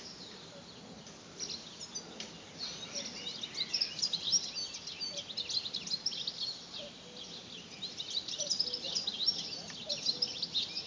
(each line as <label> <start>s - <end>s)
Birds twittering 0.0s - 10.8s